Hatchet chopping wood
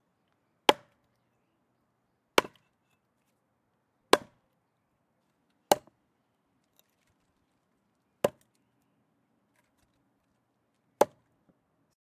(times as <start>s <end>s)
0.7s 1.0s, 2.4s 2.7s, 4.1s 4.4s, 5.7s 6.0s, 8.2s 8.5s, 11.0s 11.3s